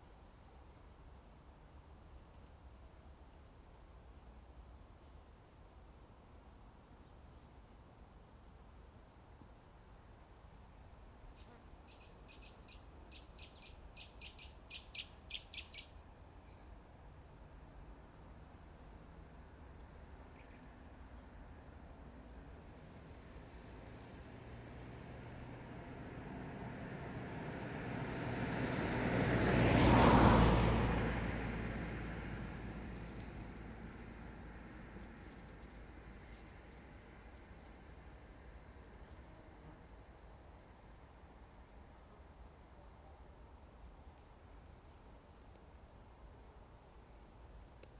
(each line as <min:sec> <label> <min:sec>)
0:00.1 traffic 0:47.9
0:11.4 bird 0:16.7